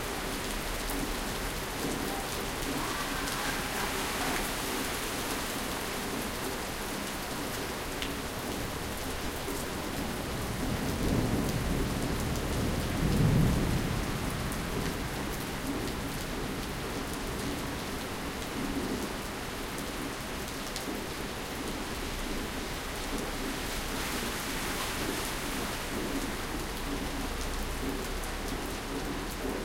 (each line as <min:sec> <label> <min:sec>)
0:00.1 Hail storm 0:06.6